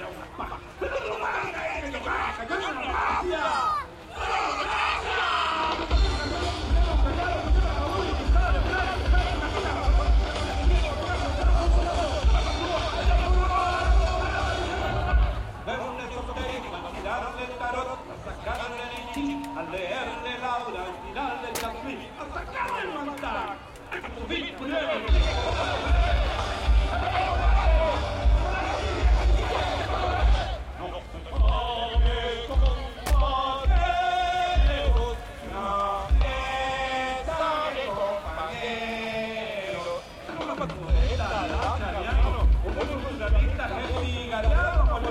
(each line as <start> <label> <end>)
0.0 crowd 45.1